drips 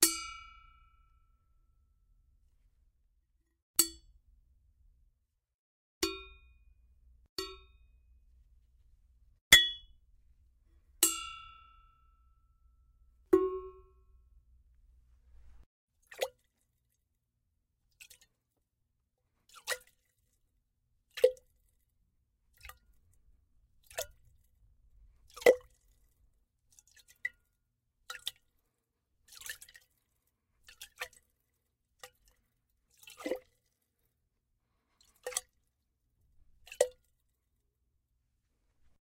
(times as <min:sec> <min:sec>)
0:19.5 0:20.1, 0:21.1 0:21.6, 0:22.5 0:23.2, 0:23.8 0:24.5, 0:25.2 0:28.6, 0:29.3 0:31.4, 0:32.0 0:33.7, 0:35.0 0:35.6, 0:36.6 0:37.3